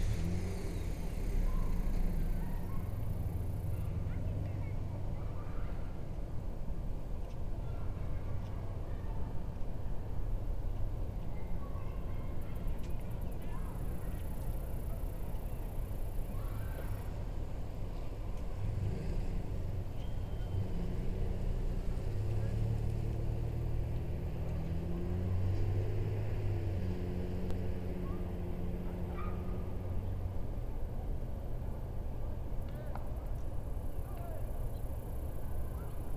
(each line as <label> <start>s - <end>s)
Children and adults 0.0s - 26.8s
people walking dogs 0.0s - 36.1s
traffic 0.0s - 36.1s